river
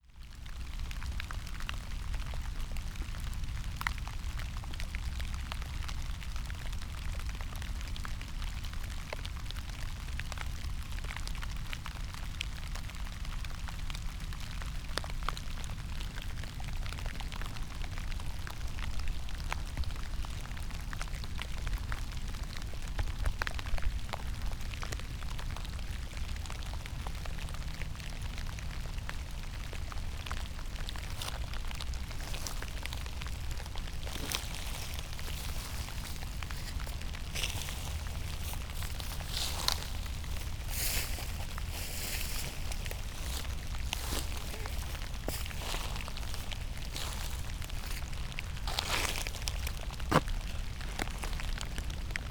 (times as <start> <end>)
14.4 52.3